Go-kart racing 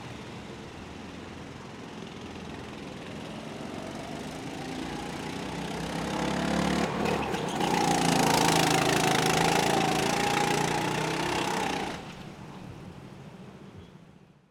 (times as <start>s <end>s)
2.0s 12.4s